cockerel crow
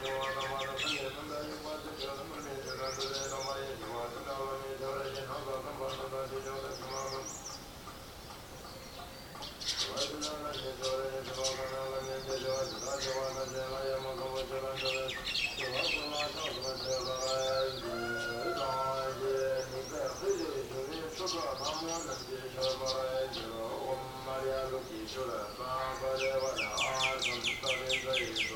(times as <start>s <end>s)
17.5s 19.4s